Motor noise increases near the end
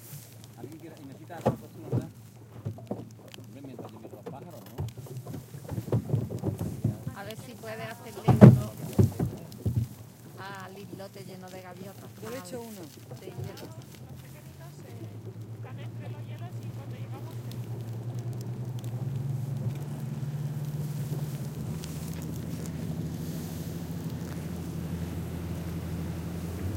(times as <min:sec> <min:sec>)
0:18.5 0:26.7